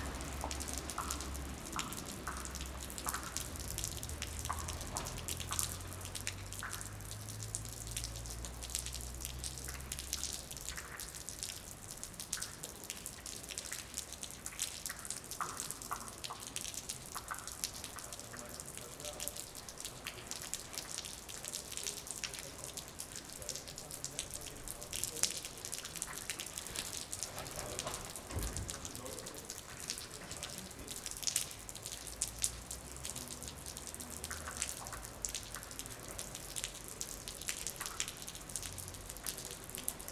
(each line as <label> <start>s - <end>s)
rain 0.0s - 40.1s
water drops from the roof on the sidewalk 0.0s - 40.1s